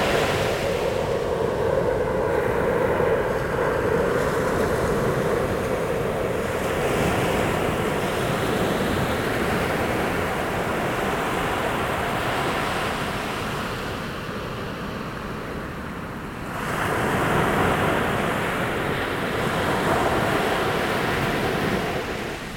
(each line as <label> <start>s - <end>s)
The sea 0.0s - 22.5s